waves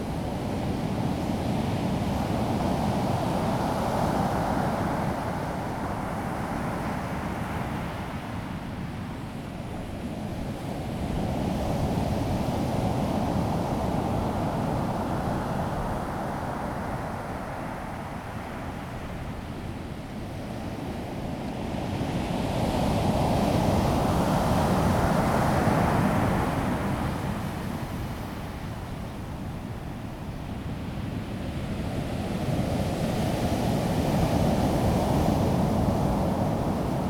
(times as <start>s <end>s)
11.8s 37.0s